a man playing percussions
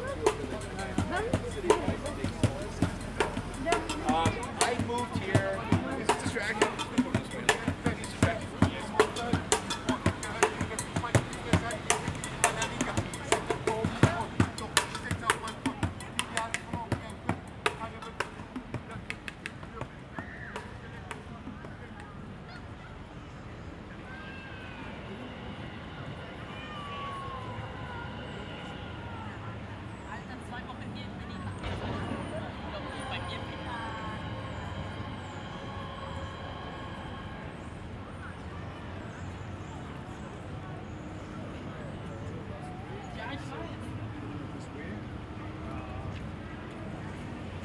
0.0 22.1

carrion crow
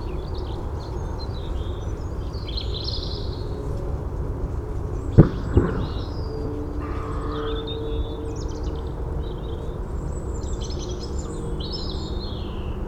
6.8 8.0

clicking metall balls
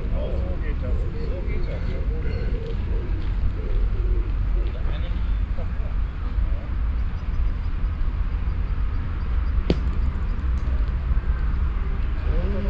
9.7 11.2

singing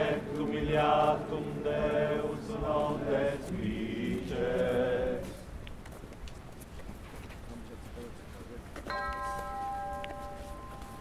0.0 5.5

